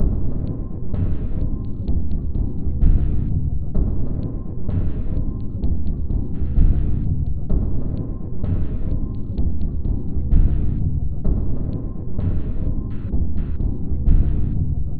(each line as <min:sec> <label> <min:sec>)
0:00.0 Drum 0:14.9